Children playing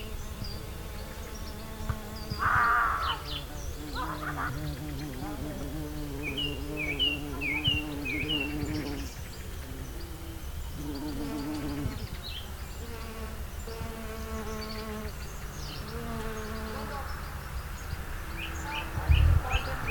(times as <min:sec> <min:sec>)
0:03.9 0:05.3